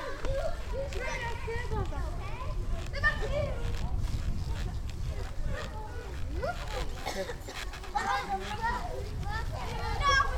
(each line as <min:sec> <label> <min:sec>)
0:00.0 kids are having fun running and jumping in giant safety nets 0:10.3
0:00.0 parents are making comments 0:10.3
0:02.6 creeking sound of the wires holding the nets 0:09.1